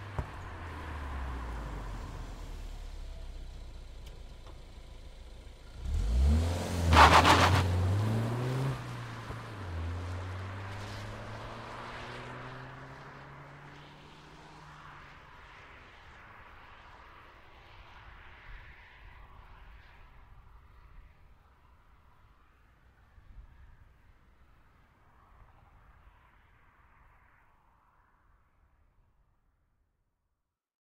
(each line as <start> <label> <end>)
0.0 car 29.3